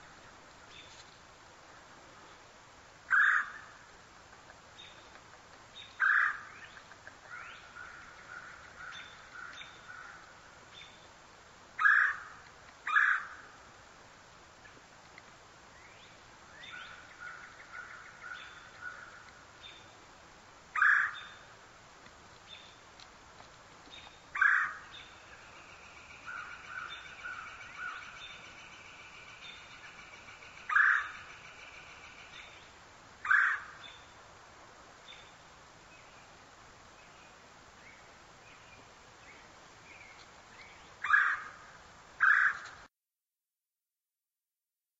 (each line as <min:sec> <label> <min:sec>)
0:24.0 Red Bellied Woodpecker 0:32.6